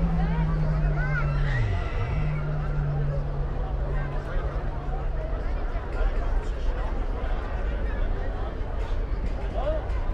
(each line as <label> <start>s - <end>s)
people 0.0s - 10.1s